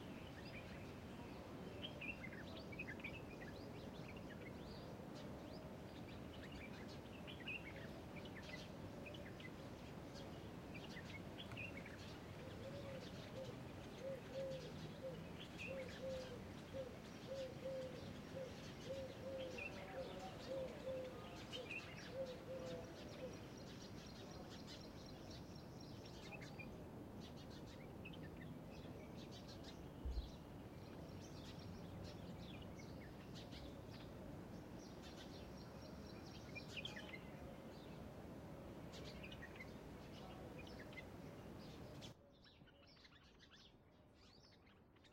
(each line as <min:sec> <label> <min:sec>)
0:00.0 birds 0:45.1
0:10.9 pigeons 0:23.8